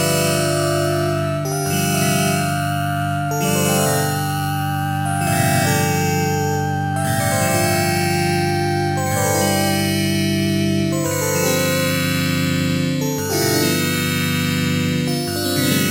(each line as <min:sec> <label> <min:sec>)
0:00.0 keyboard with built-in FM-synthesizer 0:15.9